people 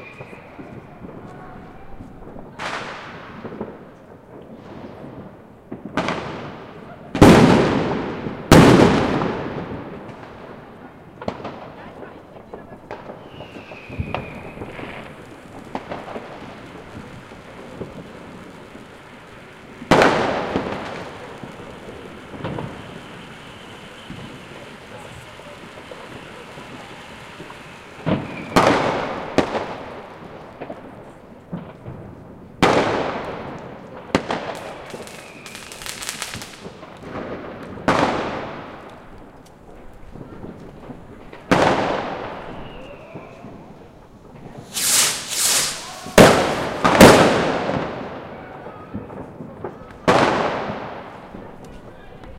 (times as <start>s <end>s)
6.6s 7.5s, 10.8s 31.9s, 38.9s 52.3s